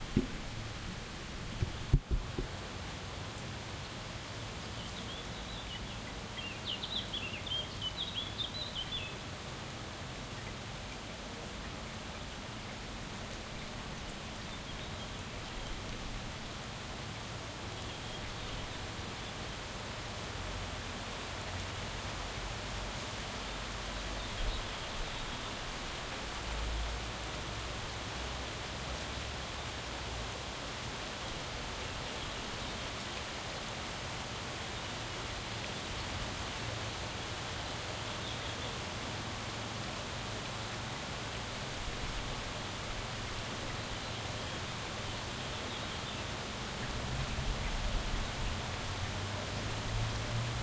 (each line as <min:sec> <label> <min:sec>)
0:00.0 medium intensity rain 0:50.6